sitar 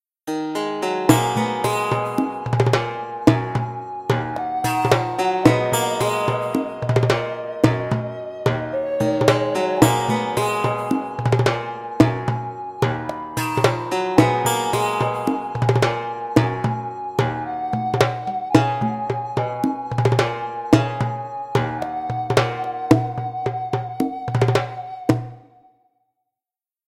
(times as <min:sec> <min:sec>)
0:00.3 0:17.6